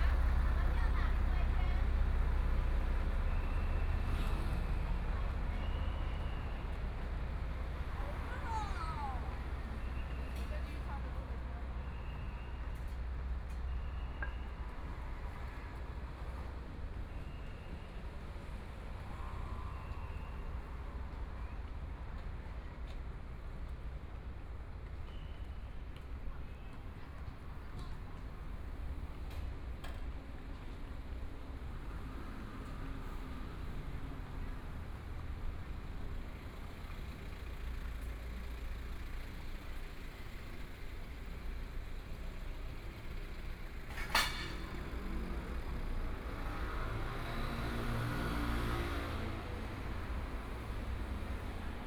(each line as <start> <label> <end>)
0.0 Traffic Sound 51.8
0.0 Walking along the outside of the school 51.8